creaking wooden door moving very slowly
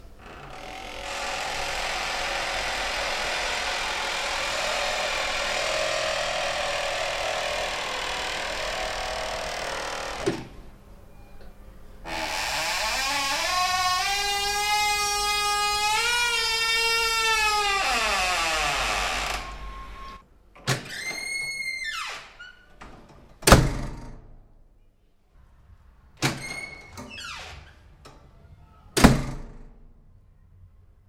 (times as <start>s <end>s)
0.2s 10.6s, 12.0s 20.2s